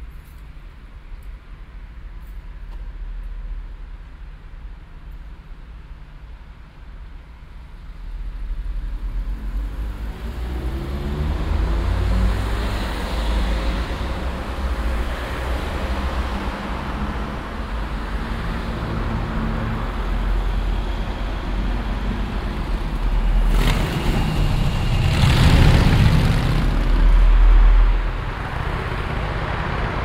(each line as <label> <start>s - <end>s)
traffic 0.0s - 30.0s